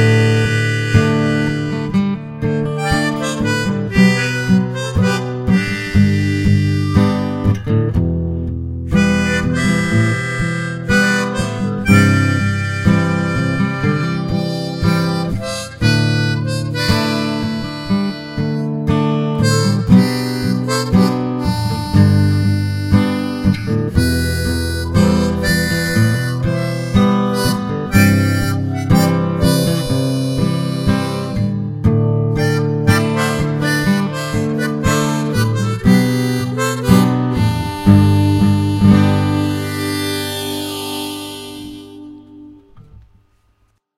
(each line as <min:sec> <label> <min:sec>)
0:00.0 diatonic harmonica 0:07.6
0:00.0 guitar 0:43.9
0:08.9 diatonic harmonica 0:31.6
0:32.3 diatonic harmonica 0:42.8